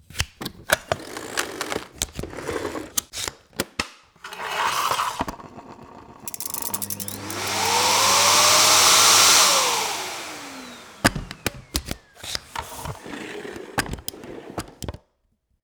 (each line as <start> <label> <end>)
6.2 Vacuum cleaner 15.0